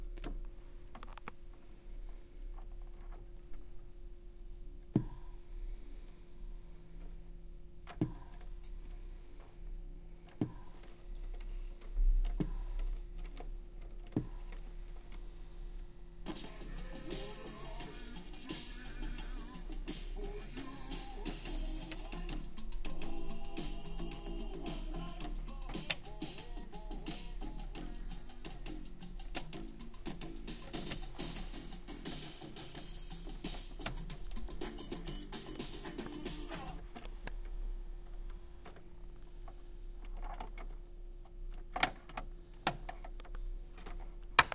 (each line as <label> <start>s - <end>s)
recordplayer 16.2s - 39.2s
recordplayer 40.0s - 44.5s